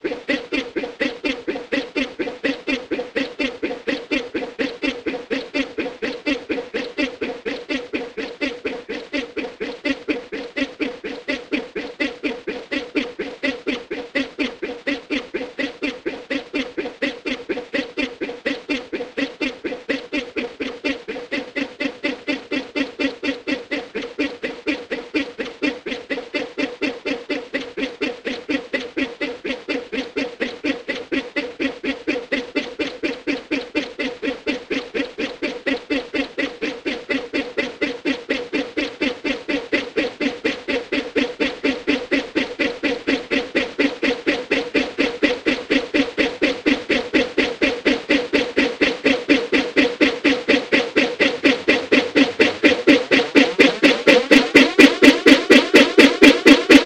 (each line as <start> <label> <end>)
0.0 voice loopner 56.8